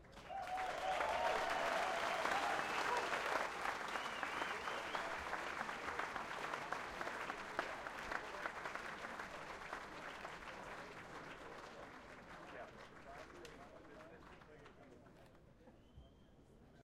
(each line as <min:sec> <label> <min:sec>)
0:00.0 people aplause 0:15.3